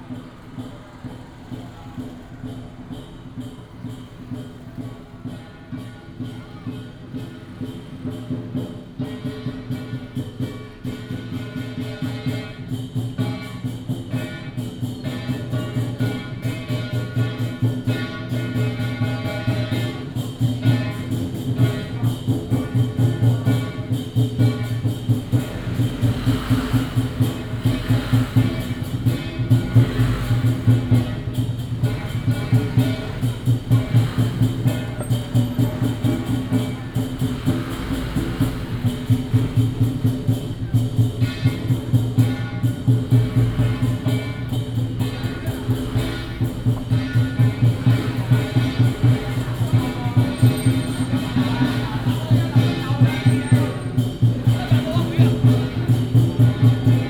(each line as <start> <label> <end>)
0.0 Walking in a small alley 57.0